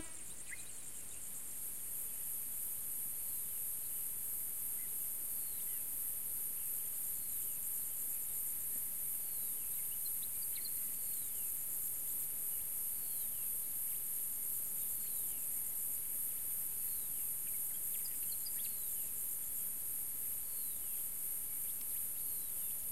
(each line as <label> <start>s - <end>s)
Crickets 0.0s - 22.9s